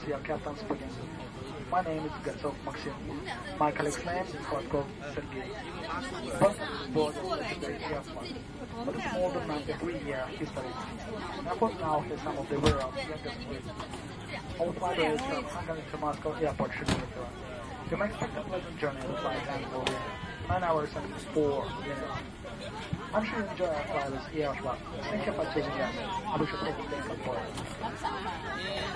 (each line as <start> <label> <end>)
0.0 Boarding passengers on the plane 28.9